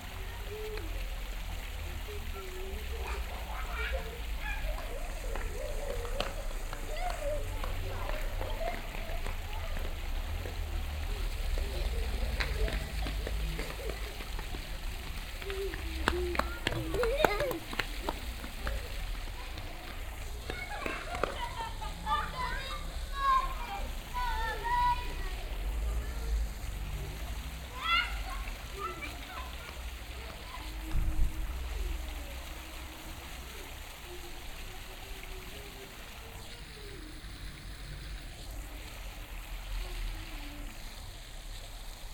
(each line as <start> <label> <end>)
0.0 children running around, screaming in local tongue 39.0
0.0 water fountain 42.1